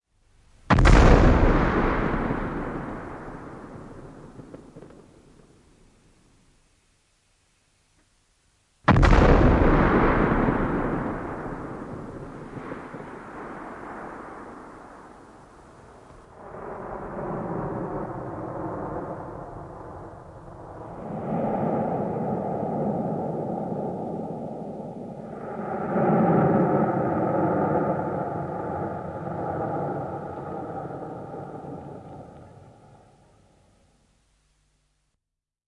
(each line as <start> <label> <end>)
0.7 a long, hefty echo 5.0
0.7 Big gun, cannon 5.6
8.9 Big gun, cannon 14.9
8.9 a long, hefty echo 33.7